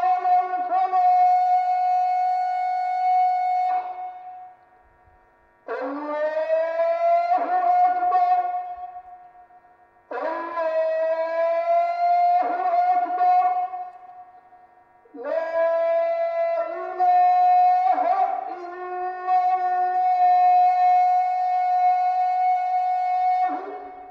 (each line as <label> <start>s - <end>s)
muezzin through speaker 0.0s - 24.1s